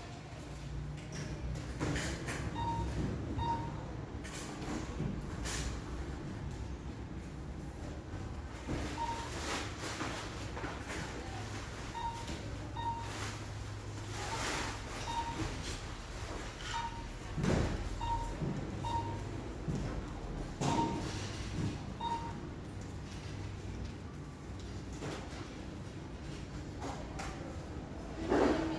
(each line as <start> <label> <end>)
8.3 cash registrer 26.7